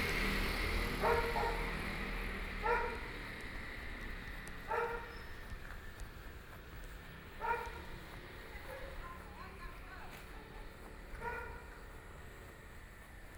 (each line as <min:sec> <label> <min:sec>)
0:00.0 Traffic Sound 0:13.3
0:01.0 Dogs barking 0:02.0
0:02.6 Dogs barking 0:03.2
0:04.7 Dogs barking 0:05.2
0:07.4 Dogs barking 0:07.9
0:08.6 Dogs barking 0:09.0
0:11.1 Dogs barking 0:11.9